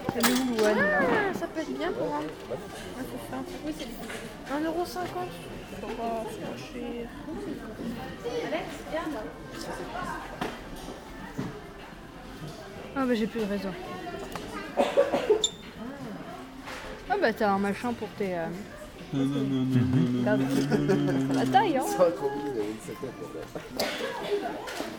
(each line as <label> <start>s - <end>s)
clients in the supermarket 0.0s - 6.6s
clients in the supermarket 20.0s - 24.9s